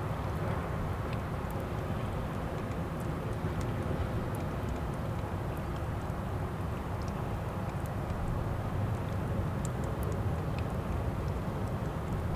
Little animals in the water and rocks 0:00.0 - 0:12.3

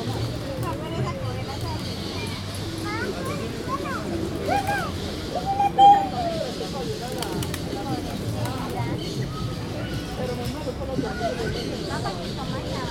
People talking 0:00.0 - 0:12.9
birds 0:00.0 - 0:12.9

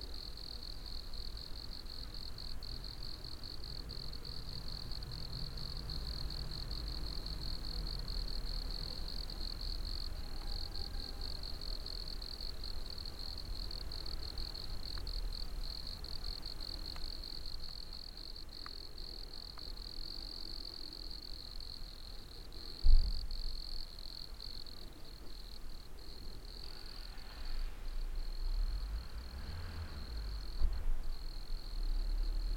crickets 0:00.0 - 0:32.5
car passing by 0:26.6 - 0:32.5

